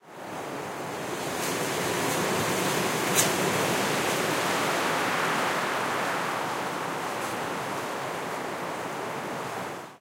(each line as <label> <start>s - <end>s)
wind gust hits a tree's branches 0.2s - 9.7s